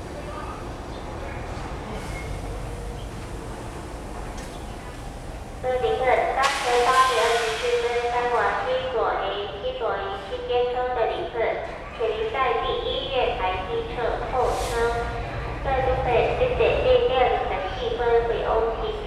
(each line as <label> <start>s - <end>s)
Station broadcast messages 5.6s - 19.0s